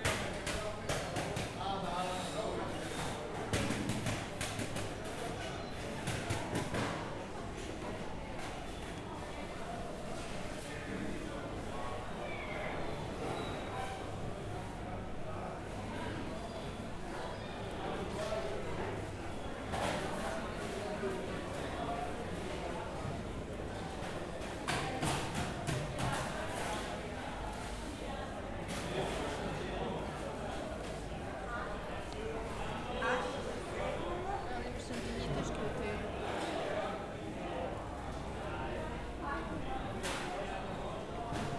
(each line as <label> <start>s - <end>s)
busy market activities 0.0s - 41.5s
people 0.0s - 41.5s